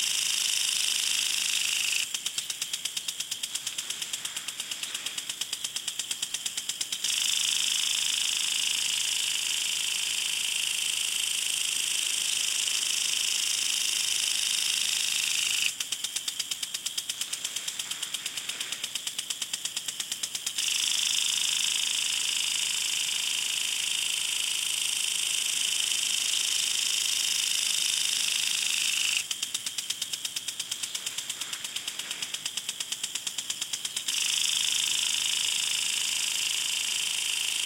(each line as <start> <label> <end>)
0.0 home lawn sprinkler 37.6